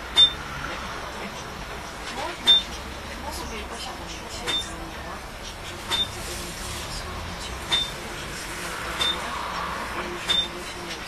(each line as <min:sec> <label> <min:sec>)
0:00.1 beeping of broken validating machine 0:00.5
0:02.4 beeping of broken validating machine 0:02.8
0:04.5 beeping of broken validating machine 0:04.8
0:05.9 beeping of broken validating machine 0:06.2
0:07.7 beeping of broken validating machine 0:08.0
0:09.0 beeping of broken validating machine 0:09.3
0:10.3 beeping of broken validating machine 0:10.8